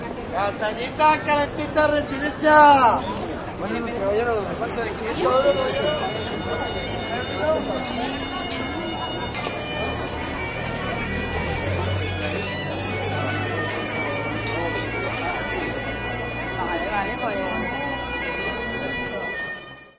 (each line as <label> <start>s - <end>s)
Street noise 0.0s - 19.9s
piper 4.4s - 19.9s